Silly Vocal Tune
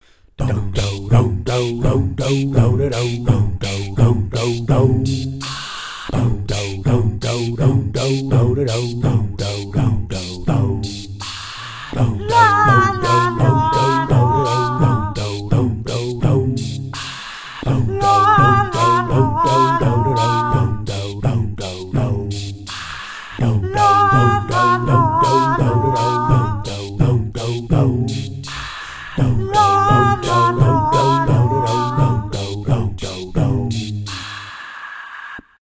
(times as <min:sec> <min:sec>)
0:12.0 0:16.1, 0:17.6 0:21.4, 0:23.4 0:28.1, 0:29.2 0:32.8